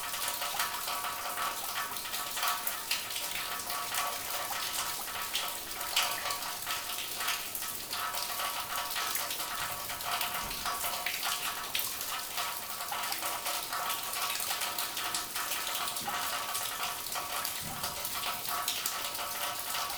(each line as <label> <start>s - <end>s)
water falling from a pit on various objects like bottles 0.0s - 19.9s